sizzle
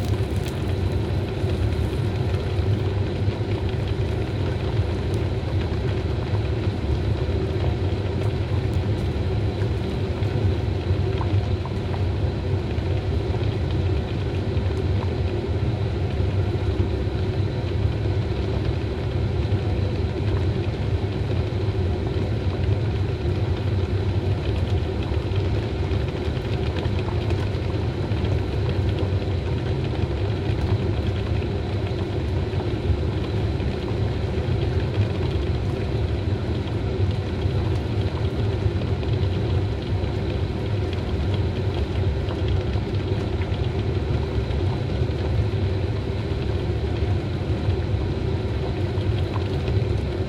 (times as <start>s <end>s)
0.0s 12.4s